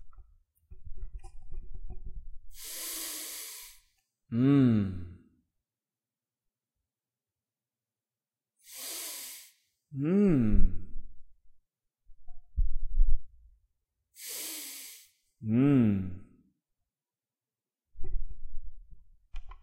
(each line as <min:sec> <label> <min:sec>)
0:02.5 long sniff 0:04.0
0:08.6 long sniff 0:09.8
0:14.1 long sniff 0:15.3